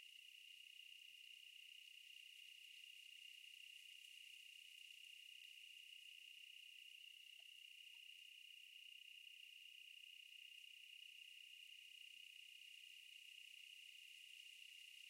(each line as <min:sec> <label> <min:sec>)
0:00.0 night crickets 0:15.0